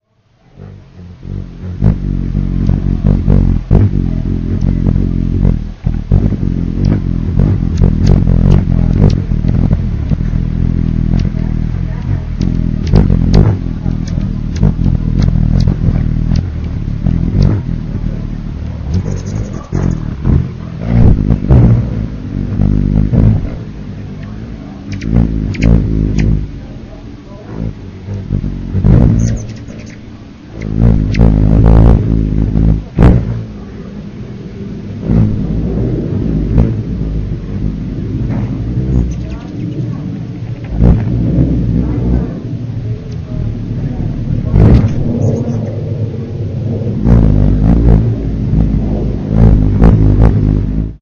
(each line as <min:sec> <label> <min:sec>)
0:00.1 HUMMING BIRDS 0:50.8
0:18.9 WINGS 0:20.2
0:24.2 WINGS 0:26.4
0:29.0 WINGS 0:31.3
0:38.9 WINGS 0:40.0
0:44.6 WINGS 0:45.8